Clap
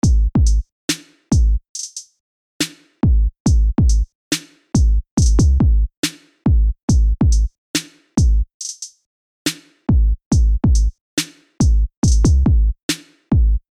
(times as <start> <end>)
11.2 11.6, 12.9 13.3